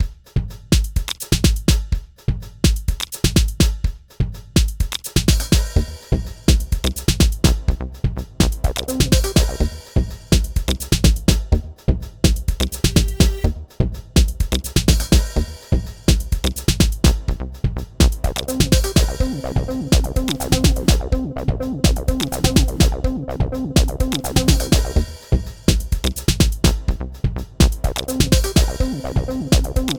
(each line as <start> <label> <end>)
0.0 rhythmic music theme 29.9